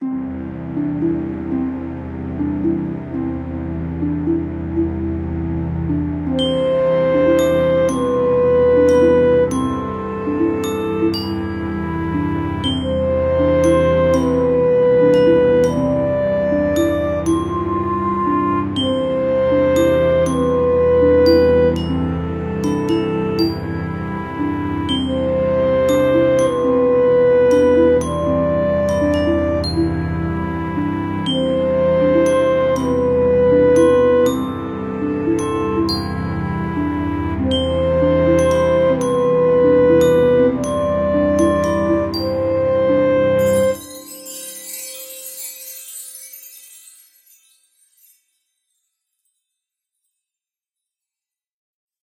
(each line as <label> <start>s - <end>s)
strings 0.0s - 48.2s
harp 0.0s - 49.5s
clarinet 6.1s - 45.2s